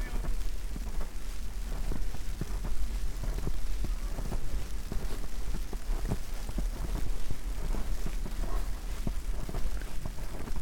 spoken words 0:00.0 - 0:00.3
snow 0:00.0 - 0:10.6
walk 0:00.0 - 0:10.6

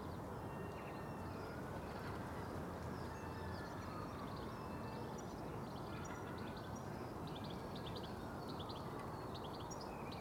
chill wind gusts 0:00.0 - 0:10.2
gulls cry above the street 0:00.4 - 0:07.2

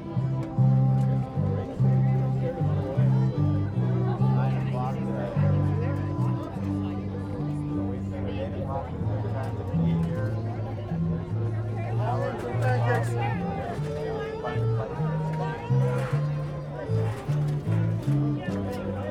fiddlers 0:00.0 - 0:19.1

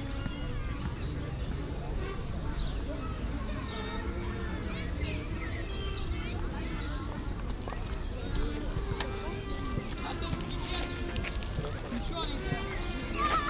trumpeters in the background 0:00.0 - 0:13.4
walkers 0:00.0 - 0:13.4

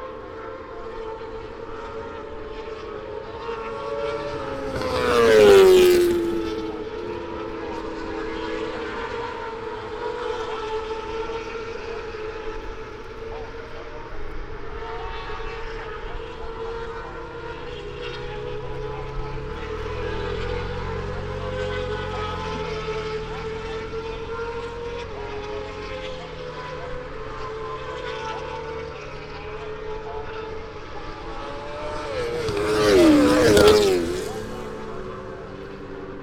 moto two 0:26.3 - 0:36.2

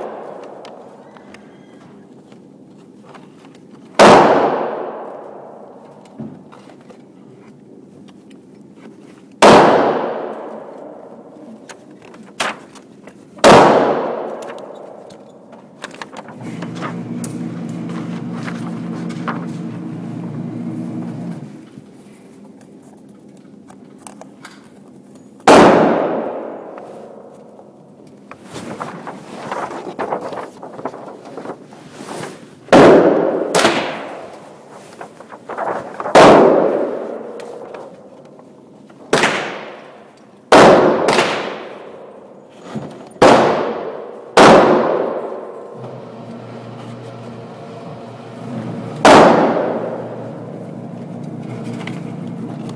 Various handguns being shot 0:00.0 - 0:01.0
Various handguns being shot 0:04.0 - 0:05.8
Various handguns being shot 0:09.4 - 0:11.3
Various handguns being shot 0:13.4 - 0:15.1
Various handguns being shot 0:25.5 - 0:27.3
Various handguns being shot 0:32.7 - 0:34.7
Various handguns being shot 0:36.1 - 0:38.0
Various handguns being shot 0:39.1 - 0:42.4
Various handguns being shot 0:43.2 - 0:45.8
Various handguns being shot 0:49.0 - 0:50.2

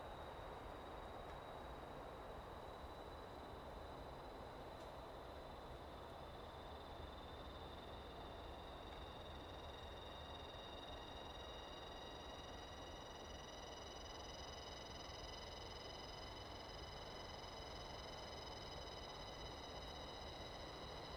Wind 0:00.0 - 0:21.1
insects 0:00.0 - 0:21.1

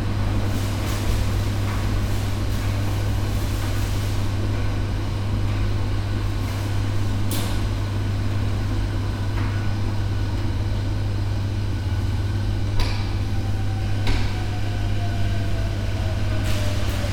washing machines operating 0:00.0 - 0:17.1

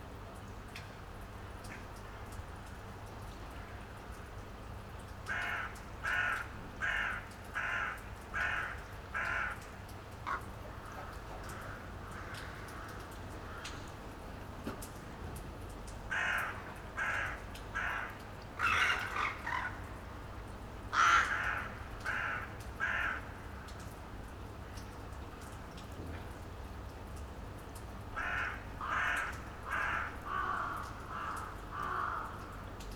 raindrops 0:00.0 - 0:32.9
lots of crows gather in the morning on the roofs 0:01.5 - 0:26.4
lots of crows gather in the morning on the roofs 0:27.5 - 0:32.9

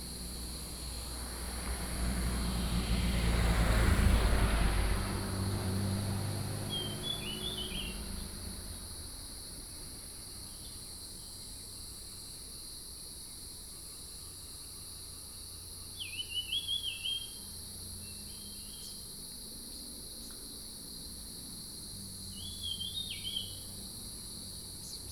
Traffic Sound 0:00.0 - 0:10.7
Cicadas cry 0:00.0 - 0:25.1

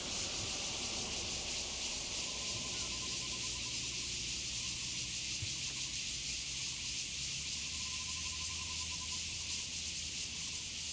Traffic Sound 0:00.0 - 0:03.6
Cicadas sound 0:00.0 - 0:10.9

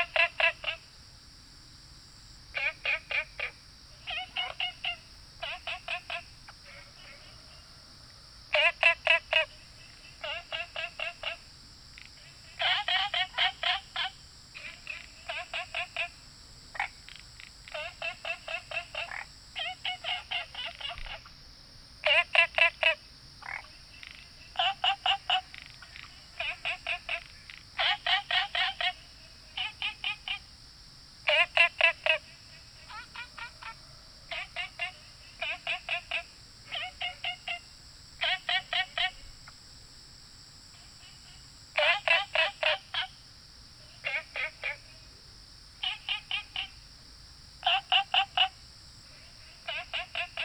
Frogs chirping 0:00.0 - 0:01.1
Insects called 0:00.0 - 0:50.4
Frogs chirping 0:02.2 - 0:50.4

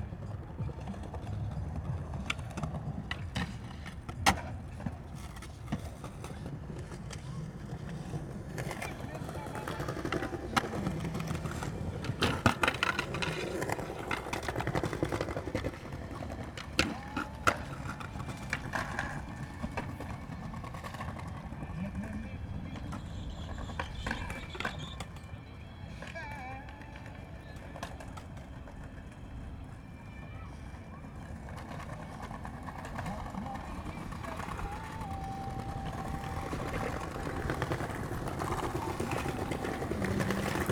freestyle cyclists practising 0:00.0 - 0:40.7
skaters 0:00.0 - 0:40.7

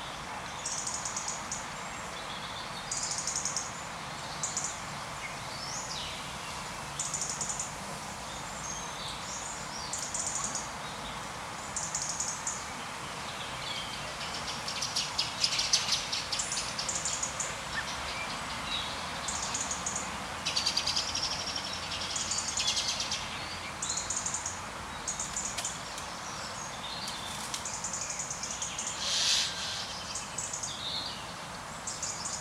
birds 0:08.3 - 0:32.4

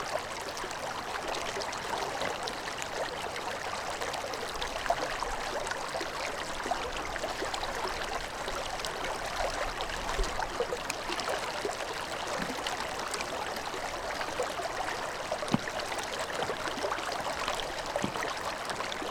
slow water 0:00.0 - 0:19.1
Ice fishing 0:13.5 - 0:19.1

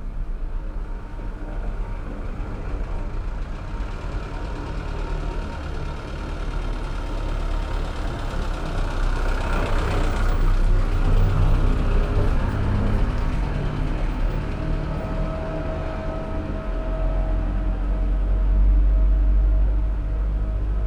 traffic heard in a tube 0:00.0 - 0:20.8

